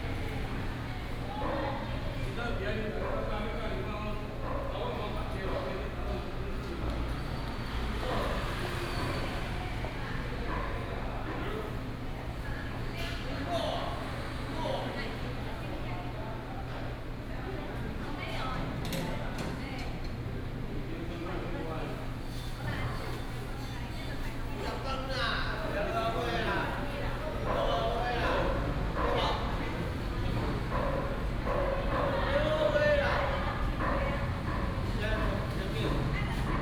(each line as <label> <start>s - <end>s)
Dog sounds 27.4s - 36.6s